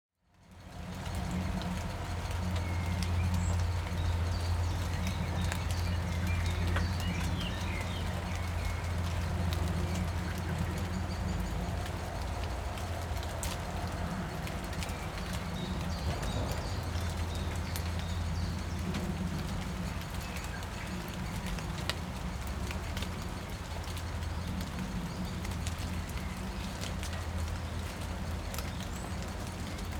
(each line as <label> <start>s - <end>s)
light rain 0.2s - 29.9s
train 0.3s - 29.9s
bird songs 1.0s - 29.9s